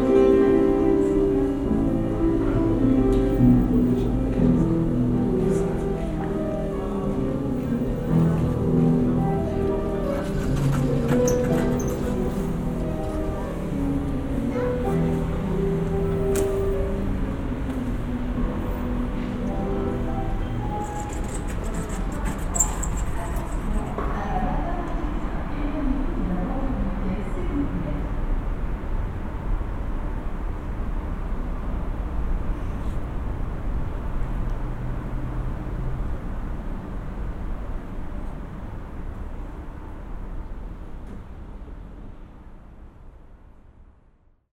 piano 0.0 - 43.6

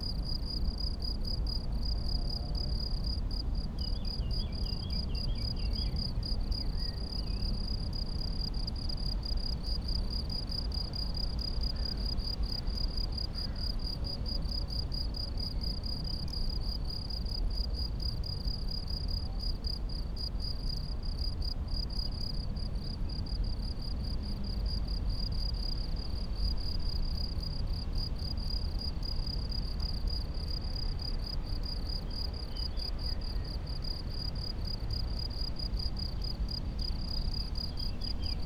crickets 0.0 - 38.4

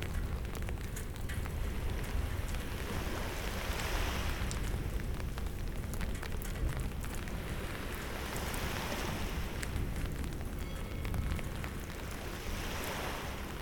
Rain 0.0 - 13.6
sea 0.0 - 13.6
thunderstorm 0.0 - 13.6

